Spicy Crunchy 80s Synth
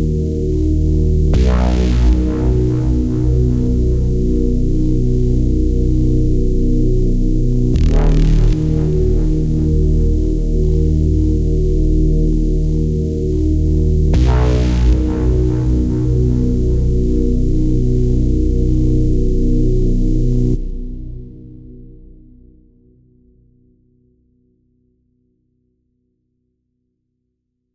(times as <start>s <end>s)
7.6s 11.2s